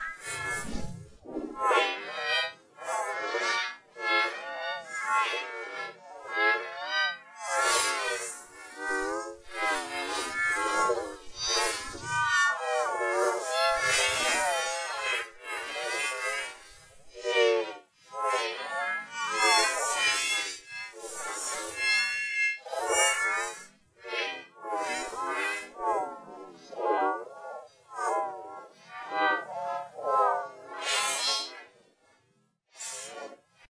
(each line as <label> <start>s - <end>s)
Alien Voice 0.0s - 1.7s
Alien Voice 8.9s - 12.3s
Alien Voice 13.6s - 14.6s